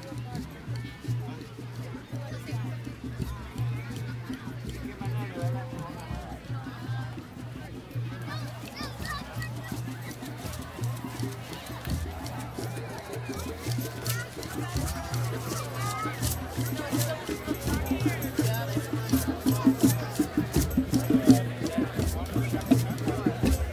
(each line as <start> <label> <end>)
0.0 crowd noise 23.7
0.0 drum circle 23.7